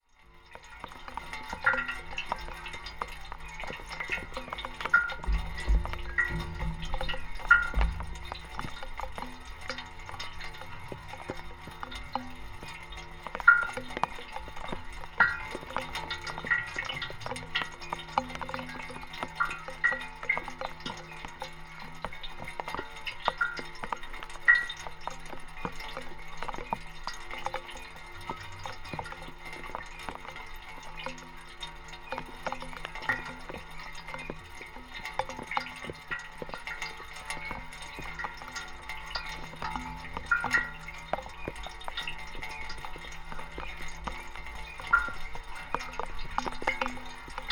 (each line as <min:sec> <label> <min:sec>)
0:00.0 fountain 0:47.5